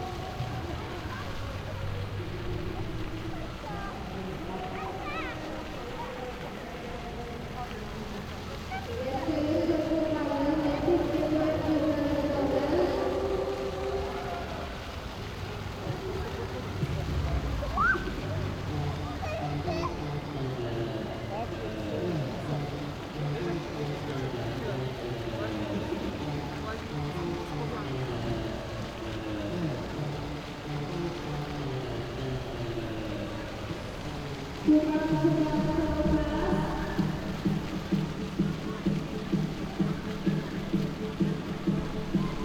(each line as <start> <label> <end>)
0.0 echoes 42.4
8.6 bouncy castle 42.4
8.6 kids party with amplifier 14.5
15.8 kids party with amplifier 42.4